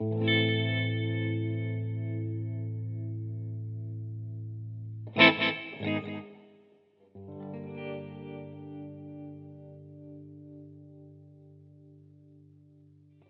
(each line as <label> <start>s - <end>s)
electric guitar 0.0s - 6.5s
electric guitar 7.1s - 13.2s